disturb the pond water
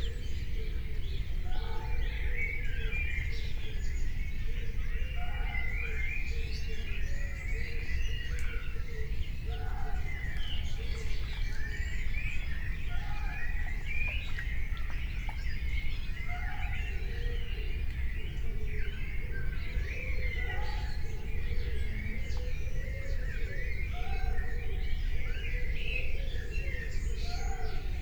10.0 18.0

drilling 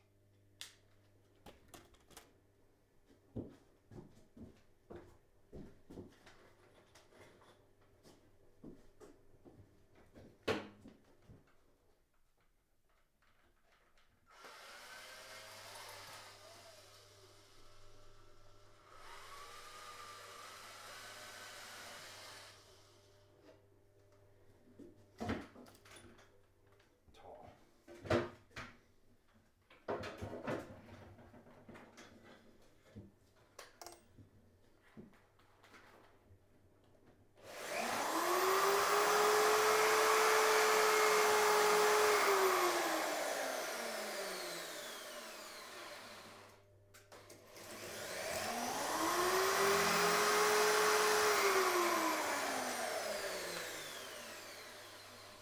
14.3 23.0, 37.4 46.6, 47.2 55.4

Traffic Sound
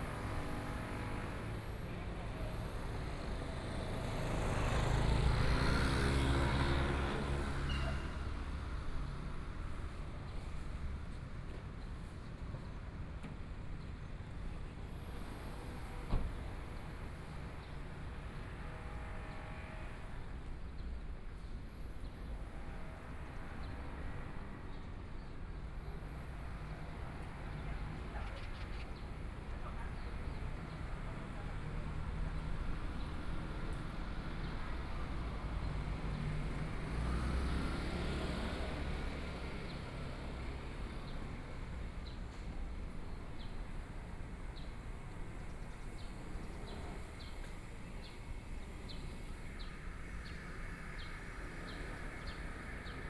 25.8 53.0

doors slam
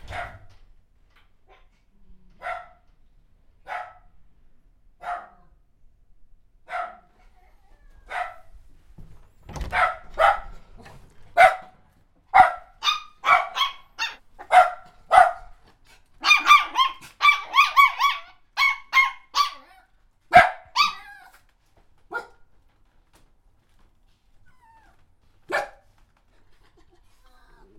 0.0 0.7, 9.3 11.0

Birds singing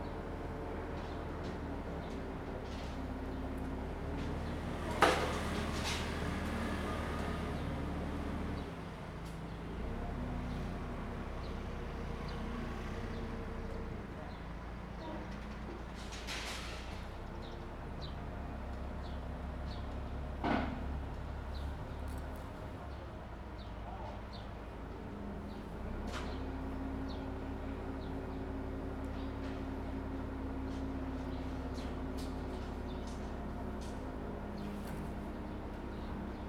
25.5 36.4

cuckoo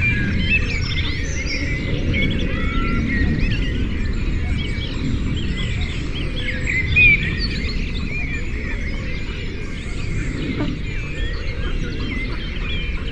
6.8 13.1

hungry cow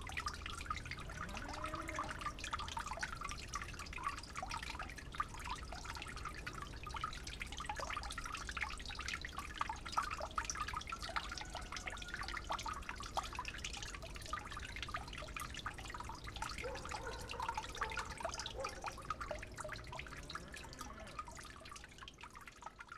20.0 21.3

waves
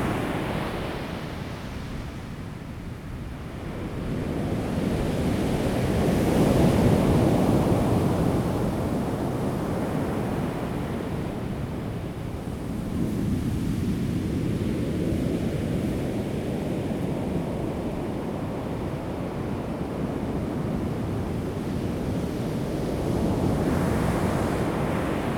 20.8 25.3

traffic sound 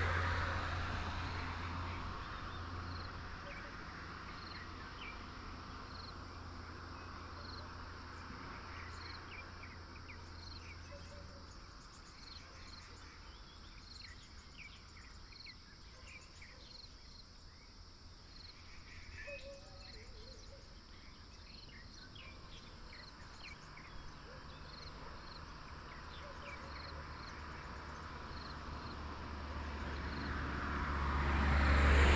0.0 10.8, 21.8 32.1

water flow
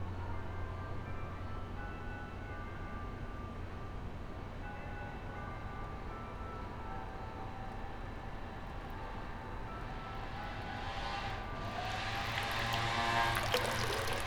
11.9 14.2

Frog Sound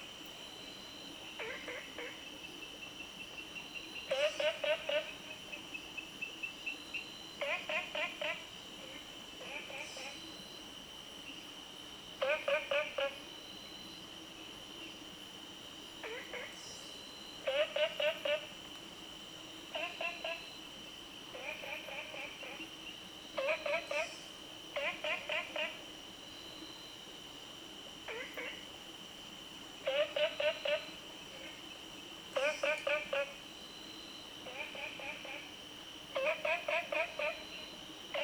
1.3 2.7, 3.8 5.7, 7.4 10.3, 12.2 13.3, 16.0 16.8, 17.4 18.6, 19.7 20.6, 21.3 25.9, 28.0 28.8, 29.8 33.5, 34.4 38.2

